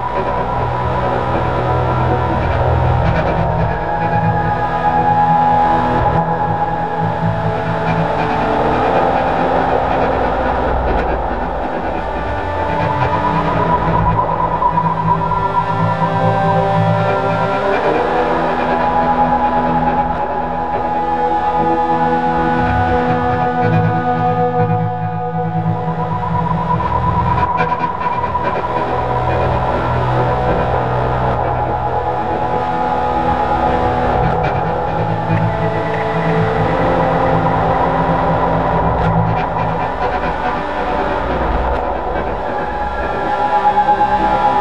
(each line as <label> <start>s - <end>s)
drone 0.0s - 44.6s